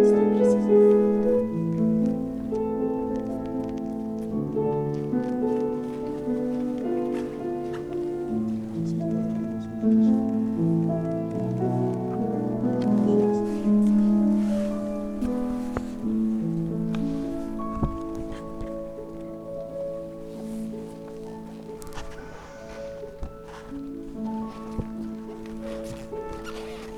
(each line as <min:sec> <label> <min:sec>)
0:00.0 piano playing 0:26.9